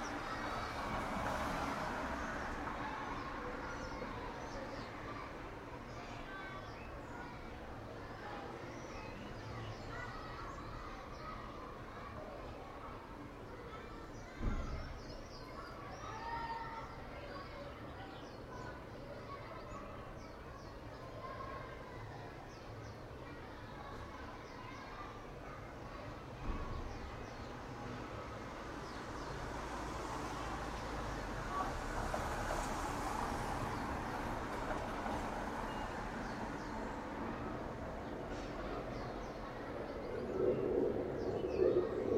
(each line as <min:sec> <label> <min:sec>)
0:00.0 passing traffic 0:05.9
0:02.0 sparrows 0:34.4
0:27.6 passing traffic 0:42.1
0:35.1 sparrows 0:42.1
0:37.4 overhead jet 0:42.1
0:38.0 blackbirds 0:42.1
0:38.6 swifts 0:42.1